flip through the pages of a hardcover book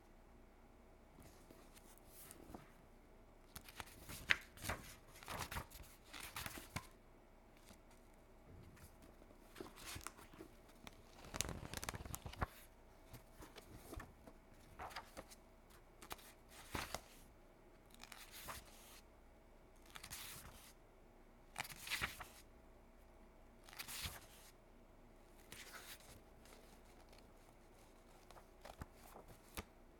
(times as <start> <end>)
1.2 2.8, 3.5 7.0, 8.7 17.3, 17.9 19.0, 19.8 20.8, 21.6 22.5, 23.6 24.6, 25.4 29.7